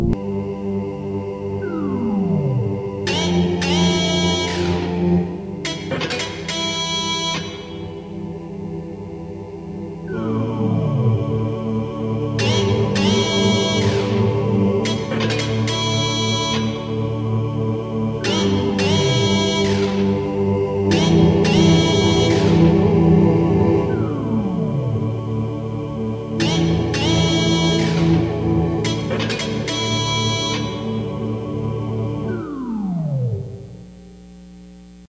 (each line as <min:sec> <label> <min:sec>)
0:00.0 keyboard 0:34.1